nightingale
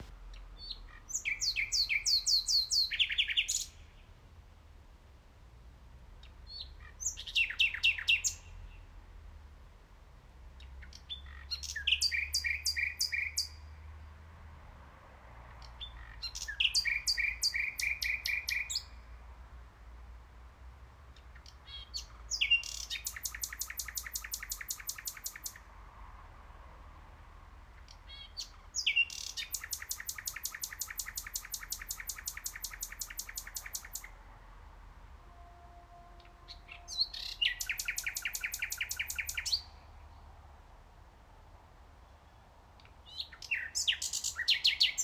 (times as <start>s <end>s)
0.0s 4.4s, 6.1s 9.0s, 10.4s 14.2s, 15.4s 19.2s, 21.0s 25.8s, 27.7s 34.3s, 35.2s 40.5s, 41.9s 45.0s